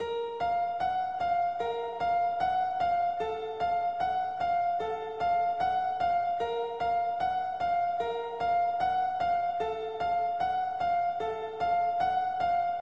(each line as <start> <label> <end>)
0.0 piano melody 12.8